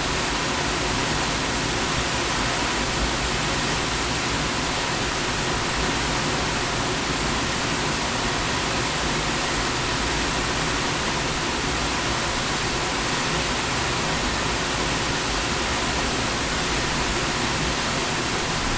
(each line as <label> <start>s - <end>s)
waterfall 0.0s - 18.7s